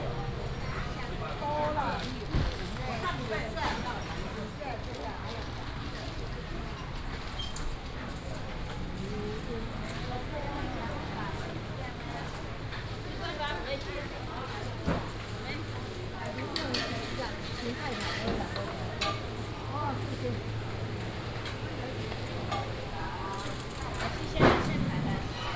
vendors peddling 0:15.0 - 0:25.5

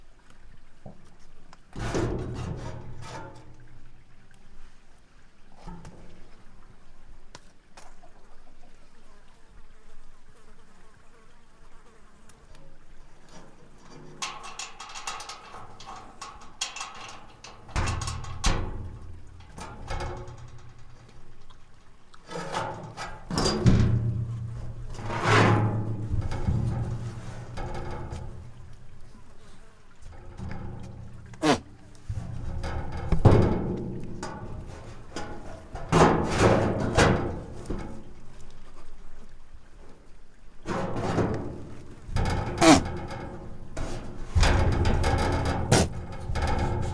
goat banging on a metal door 0:14.2 - 0:21.2
goat banging on a metal door 0:22.4 - 0:28.7
goat banging on a metal door 0:30.2 - 0:37.9
goat banging on a metal door 0:40.7 - 0:46.9

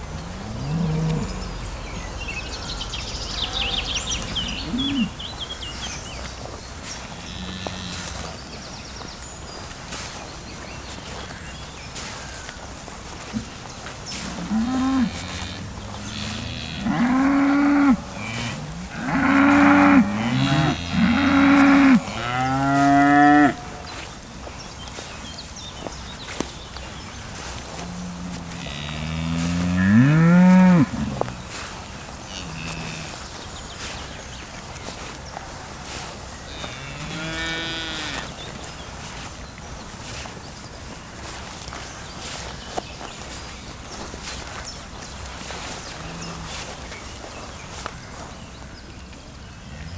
Angry cows 0:00.0 - 0:08.5
Angry cows 0:13.2 - 0:24.2
Angry cows 0:26.8 - 0:42.2

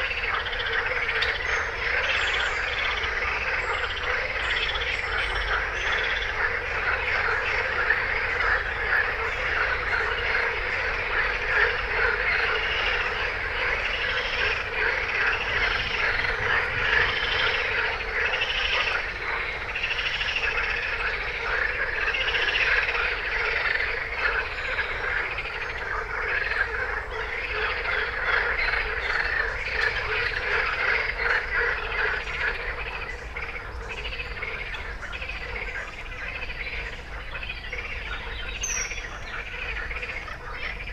batraciens 0:00.0 - 0:40.9

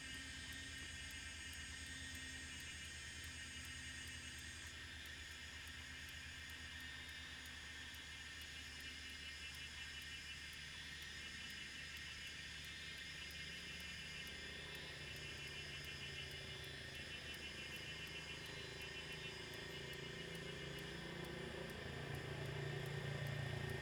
Cicadas sound 0:08.6 - 0:23.8

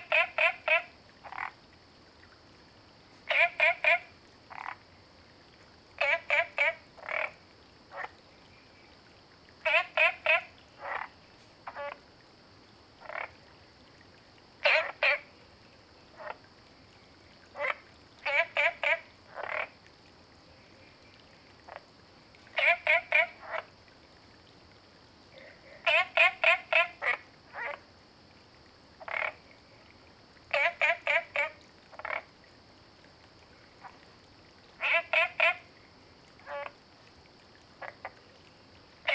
Frogs chirping 0:00.0 - 0:02.3
Frogs chirping 0:03.2 - 0:05.1
Frogs chirping 0:05.9 - 0:12.1
Frogs chirping 0:13.0 - 0:13.8
Frogs chirping 0:14.5 - 0:19.8
Frogs chirping 0:20.5 - 0:23.8
Frogs chirping 0:25.3 - 0:32.4
Frogs chirping 0:33.4 - 0:39.1

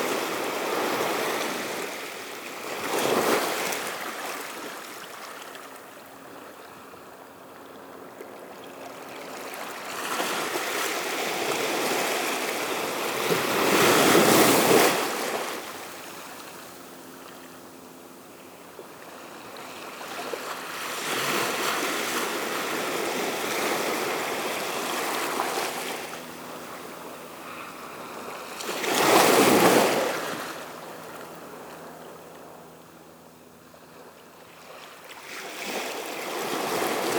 The sea on a jetty 0:00.0 - 0:37.1

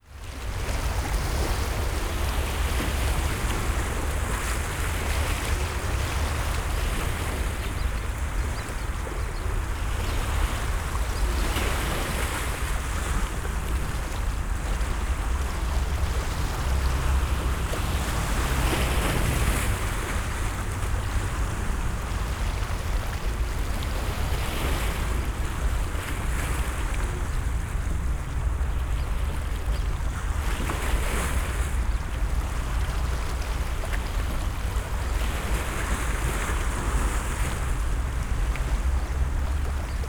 waves lapping at the beach 0:00.0 - 0:40.0

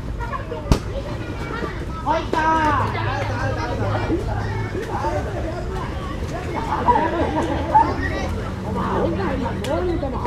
teenage boys playing water ball 0:00.0 - 0:10.2
kids laughing 0:00.2 - 0:10.2
smashed ball 0:00.7 - 0:01.0

